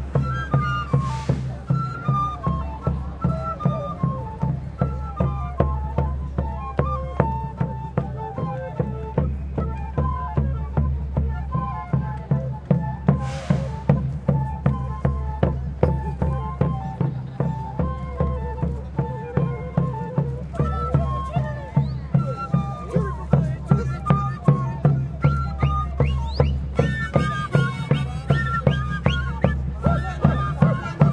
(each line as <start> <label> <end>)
0.0 people 31.1